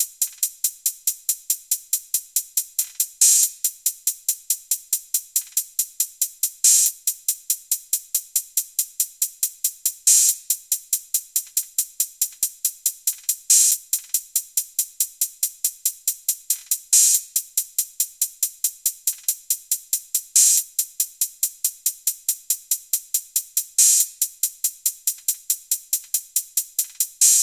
0.0s hihat 27.4s

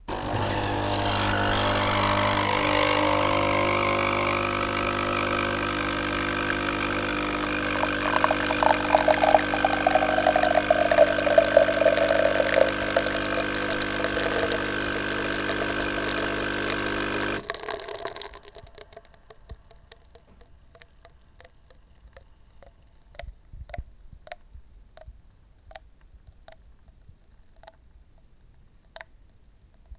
0.0s espresso coffee machine making coffee 19.1s

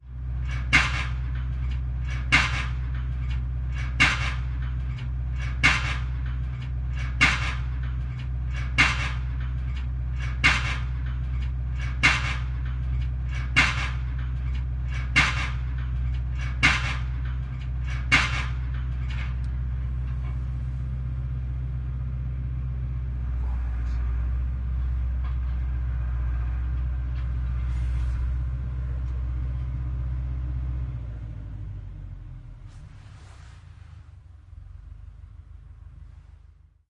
0.0s tractor 36.7s
0.4s hydraulically operated fence-post driver 21.6s

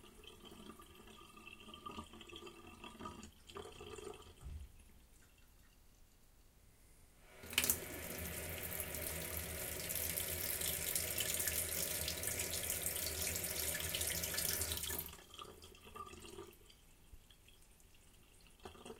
7.4s water draining in sink 16.9s
17.5s water draining in sink 18.9s

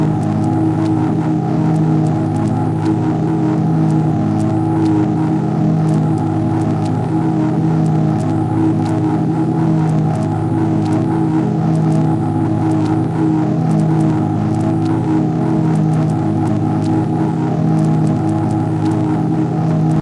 0.0s droning sound 20.0s

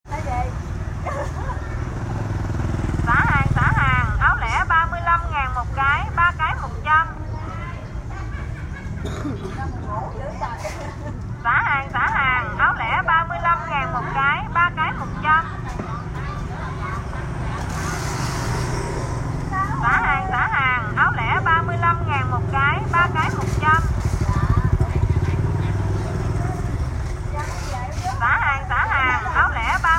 9.2s Woman sell stuff 29.9s

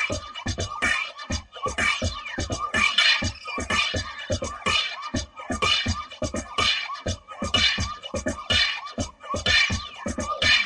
0.0s music 10.6s

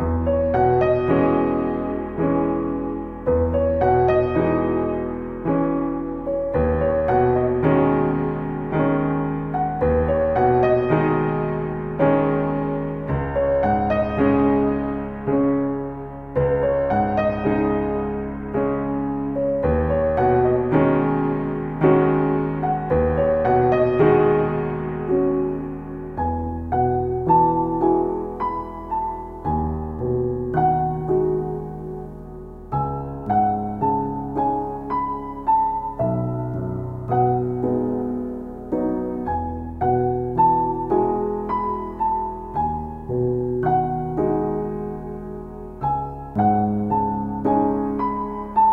0.0s piano 48.7s

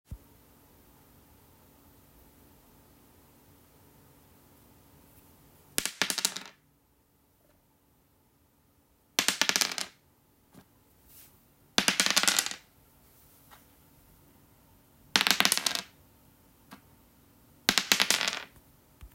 5.8s Rolling a die on a wooden floor 6.6s
9.2s Rolling a die on a wooden floor 10.7s
11.8s Rolling a die on a wooden floor 12.7s
15.1s Rolling a die on a wooden floor 16.0s
17.6s Rolling a die on a wooden floor 18.6s

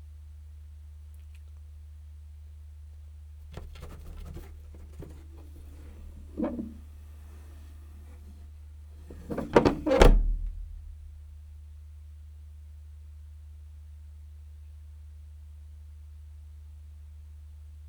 3.6s cat flap 6.8s

